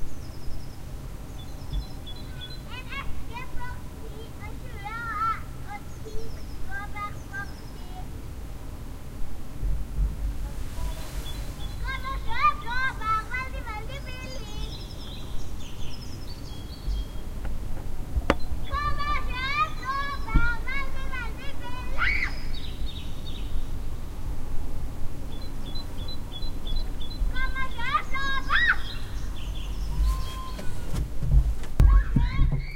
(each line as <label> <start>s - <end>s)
children playing 1.7s - 8.1s
children playing 10.4s - 15.3s
children playing 18.6s - 22.6s
children playing 27.2s - 31.1s
children playing 31.8s - 32.7s